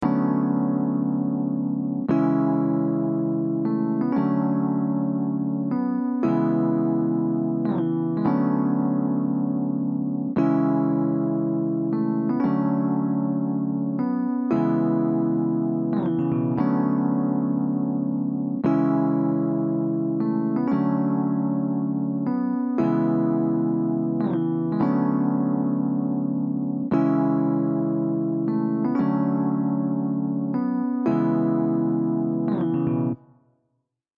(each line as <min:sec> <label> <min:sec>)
0:00.0 epiano riff 0:33.2